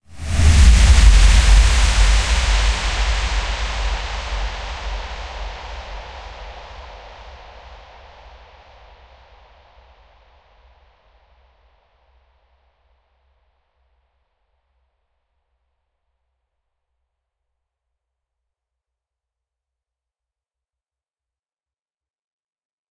0.1s whoosh 6.8s

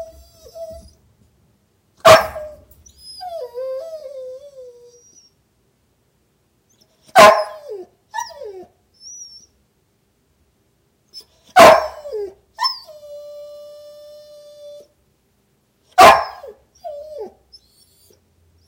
0.0s Young dog barking and whining in his crate 1.2s
2.0s Young dog barking and whining in his crate 5.5s
6.6s Young dog barking and whining in his crate 9.7s
11.0s Young dog barking and whining in his crate 15.0s
15.8s Young dog barking and whining in his crate 18.6s

